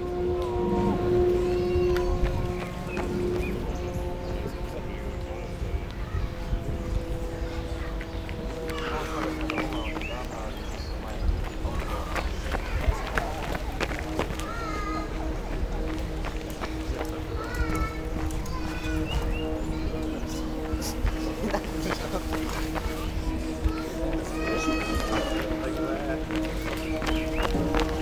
0.0s Musikminiaturen 28.0s

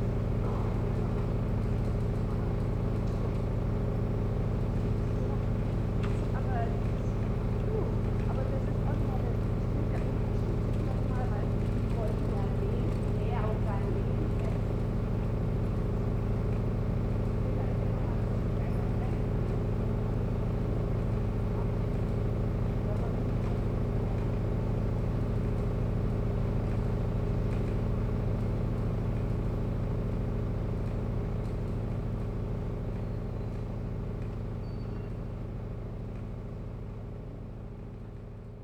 0.0s generator at a construction site of a combined sewer 38.6s

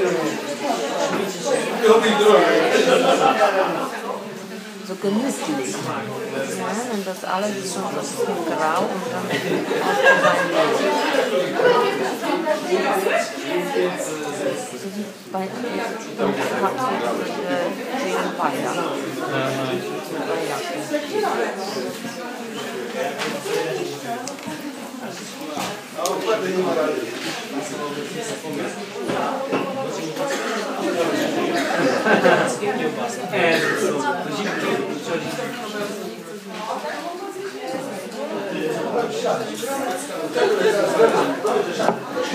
2.6s laughter 4.0s
9.3s laughter 10.8s
31.6s laughter 32.7s

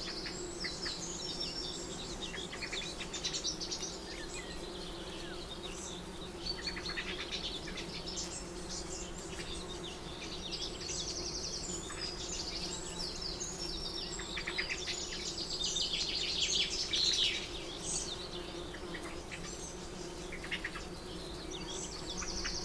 0.0s background noise 22.6s
0.0s bees 22.6s

